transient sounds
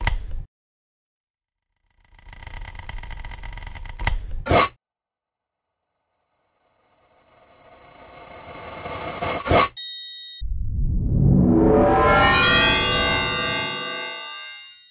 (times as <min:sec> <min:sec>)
0:10.4 0:14.6